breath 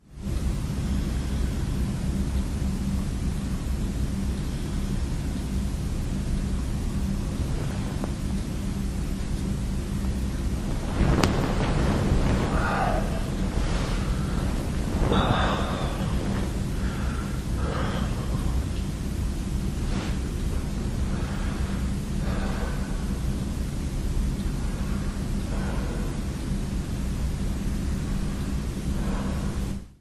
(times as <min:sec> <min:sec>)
0:12.3 0:18.8, 0:21.0 0:23.3, 0:24.6 0:26.5, 0:28.9 0:29.9